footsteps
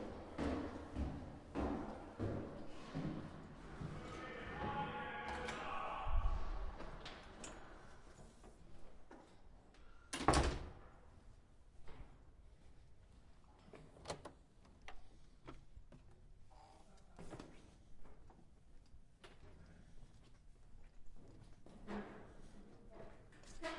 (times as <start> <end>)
0.0 7.3